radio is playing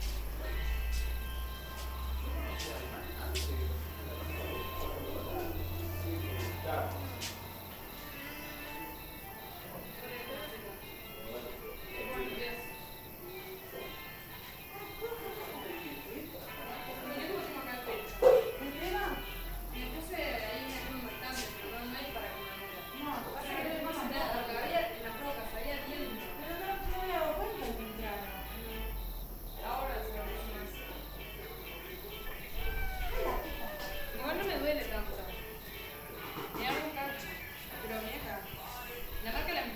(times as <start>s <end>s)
1.8s 9.1s